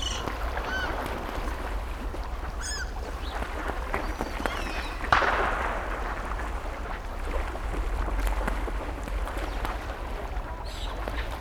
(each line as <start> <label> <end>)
0.0 seagulls 5.3
0.0 ducks 5.4